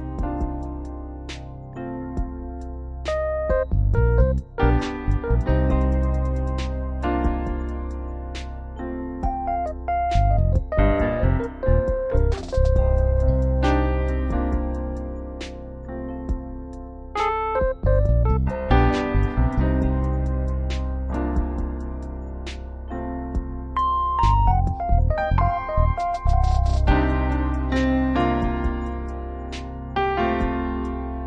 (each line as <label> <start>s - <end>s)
trap drums 9.2s - 14.8s
notes of blues 9.3s - 14.3s
trap drums 24.2s - 27.5s